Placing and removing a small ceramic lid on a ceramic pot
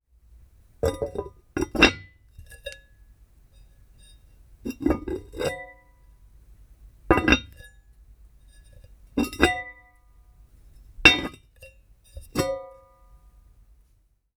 0.8s 2.9s, 4.0s 6.0s, 7.1s 7.7s, 8.5s 10.0s, 10.8s 13.0s

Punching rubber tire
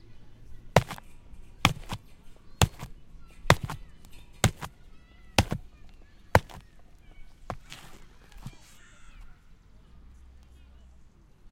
0.8s 8.6s

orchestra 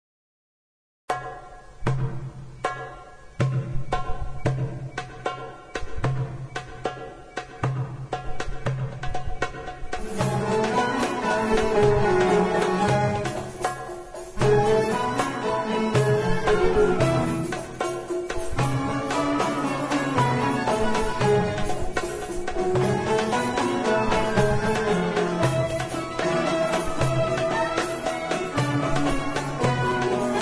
9.4s 30.4s

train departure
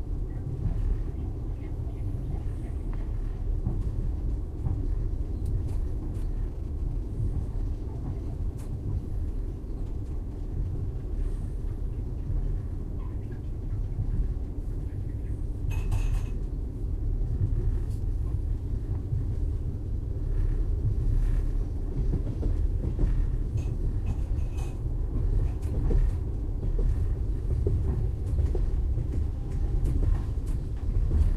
12.8s 31.3s

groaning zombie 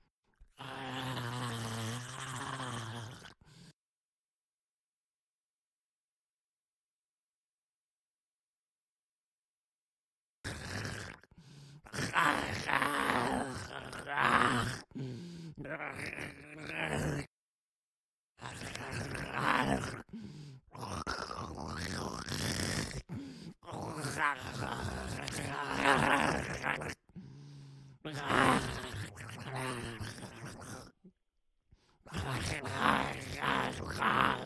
0.5s 3.8s, 10.5s 17.3s, 18.4s 31.1s, 32.0s 34.4s

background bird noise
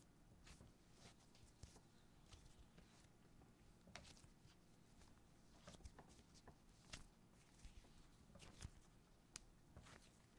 0.0s 5.4s

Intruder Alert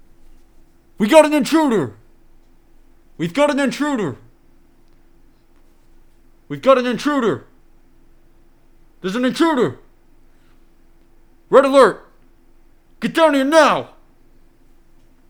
1.0s 2.0s, 3.2s 4.3s, 6.5s 7.5s, 9.0s 9.8s, 11.5s 12.1s, 13.0s 14.0s

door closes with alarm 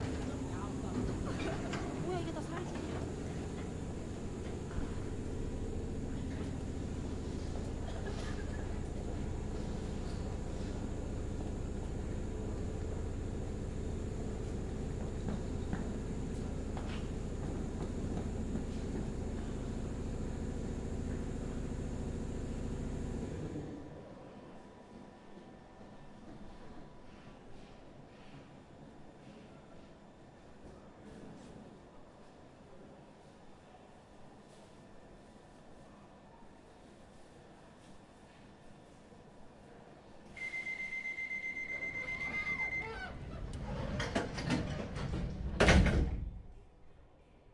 40.4s 43.3s

